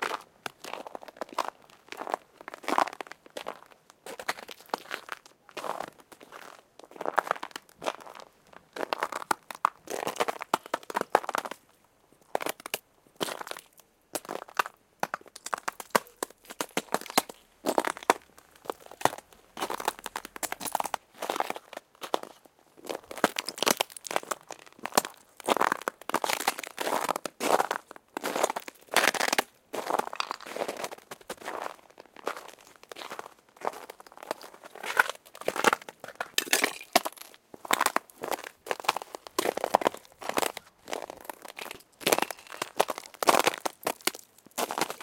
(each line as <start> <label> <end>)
0.1 Footsteps on ice chunks 11.6
12.3 Footsteps on ice chunks 45.0
34.9 ice crack 45.0